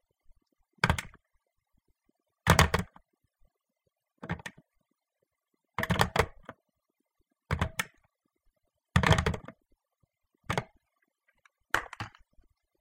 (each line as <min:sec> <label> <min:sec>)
0:00.8 Picking up and putting down a telephone 0:01.2
0:02.5 Picking up and putting down a telephone 0:03.0
0:04.2 Picking up and putting down a telephone 0:04.6
0:05.8 Picking up and putting down a telephone 0:06.6
0:07.5 Picking up and putting down a telephone 0:08.0
0:09.0 Picking up and putting down a telephone 0:09.6
0:10.5 Picking up and putting down a telephone 0:10.7
0:11.7 Picking up and putting down a telephone 0:12.3